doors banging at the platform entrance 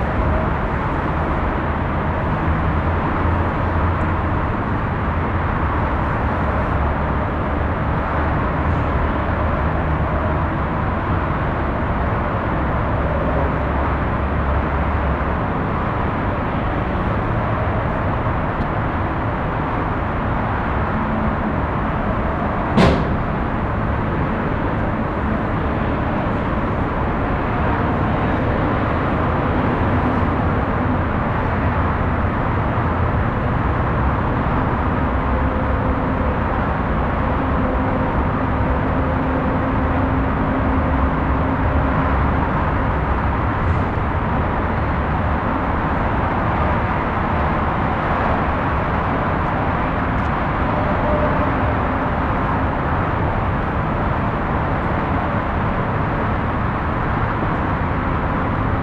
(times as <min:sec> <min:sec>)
0:22.7 0:23.6